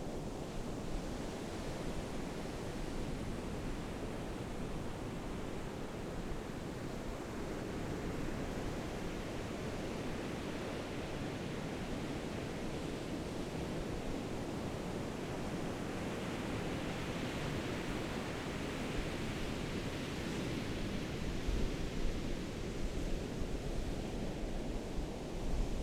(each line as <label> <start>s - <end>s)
waves 0.0s - 25.8s